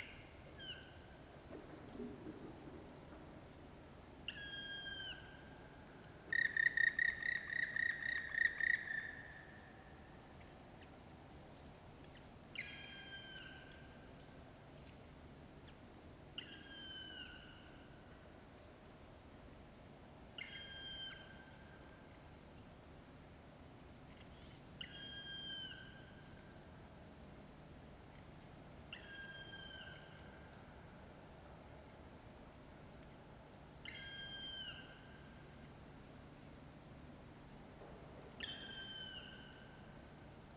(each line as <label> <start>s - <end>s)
black woodpecker 6.3s - 9.6s
black woodpecker 38.3s - 39.7s